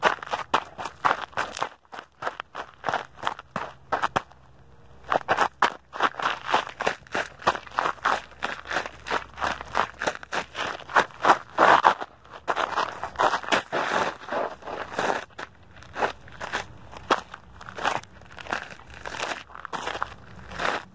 0.0s Running on gravel 20.9s

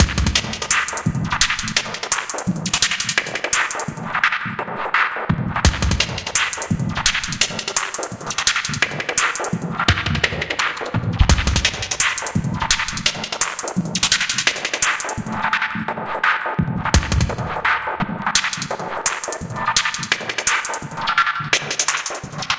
0.0s Glitch Drum loop 3.9s
5.6s Glitch Drum loop 15.5s
16.8s Glitch Drum loop 22.5s

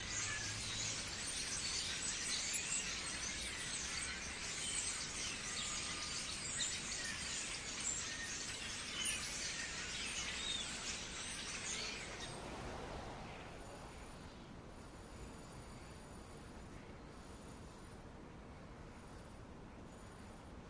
0.0s murmuration of Starlings (flock of birds) takes flight 14.2s
0.0s 500 starlings babbling in a tree 17.8s

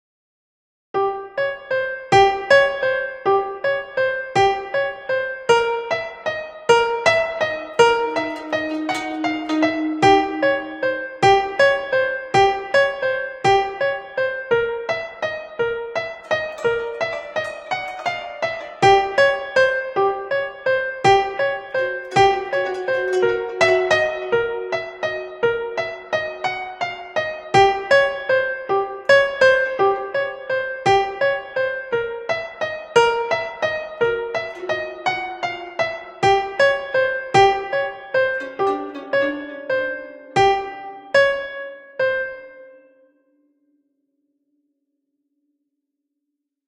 1.1s Haunting piano melody 43.0s
7.1s strings in the background 12.1s
16.1s strings in the background 26.4s
34.1s strings in the background 41.0s

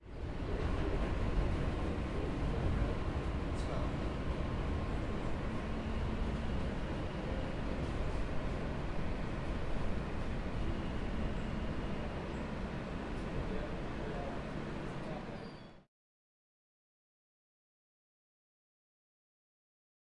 0.0s Subway train, in transit, screeching 15.9s

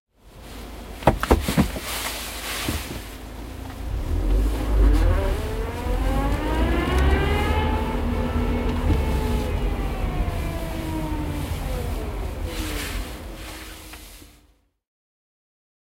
0.8s backing car 14.4s
1.9s winter jacket sound 14.5s

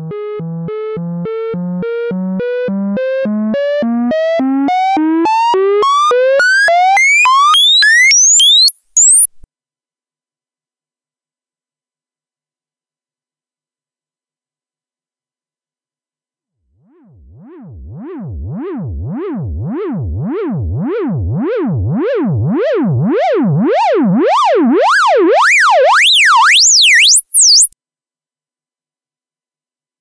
5.3s bleeps and sweeps 9.4s
17.0s bleeps and sweeps 27.8s

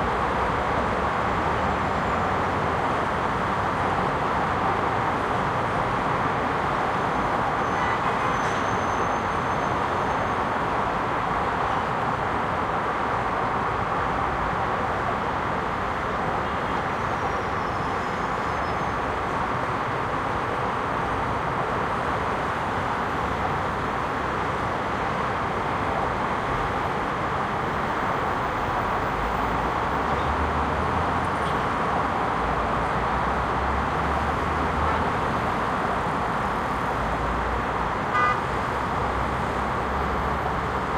0.0s traffic 40.9s

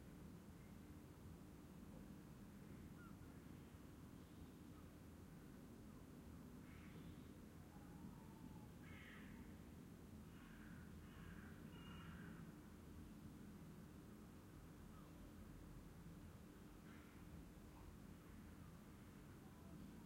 2.6s birds 5.1s
6.0s birds 13.2s

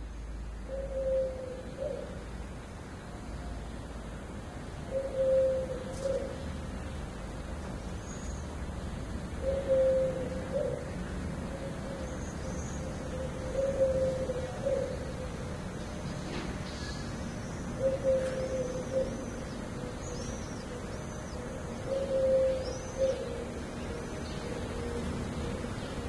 0.6s cuckoo's calling 2.3s
4.8s cuckoo's calling 6.7s
9.4s cuckoo's calling 26.0s

